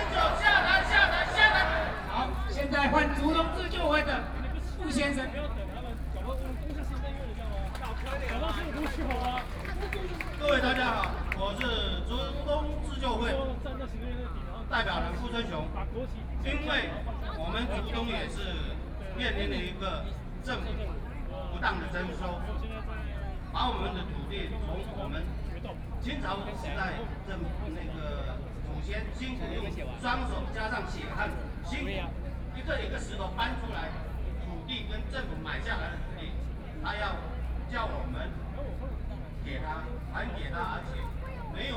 Protest 0.0 - 5.2
Speech 0.0 - 41.7
Protest 7.8 - 12.2

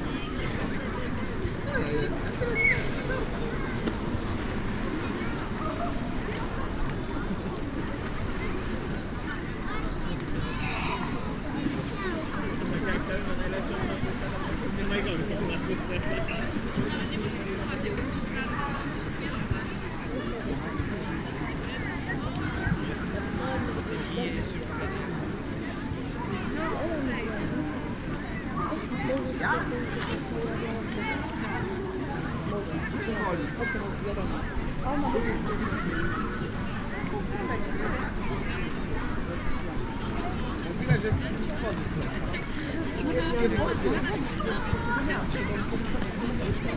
people resting on a lawn 0.0 - 46.7
riding bikes 0.0 - 23.8
riding bikes 25.7 - 46.7

